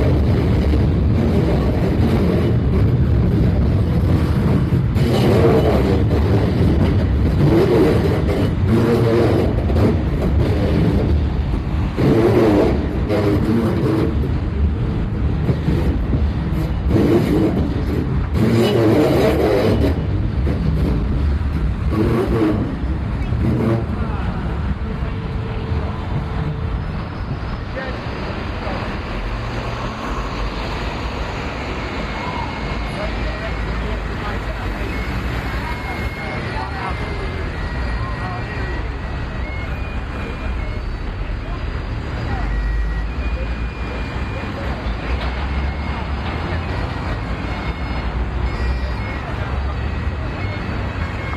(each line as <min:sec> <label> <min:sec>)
0:00.0 Screeching train with its grinding of brakes 0:51.3
0:04.0 busker playing bagpipes 0:51.3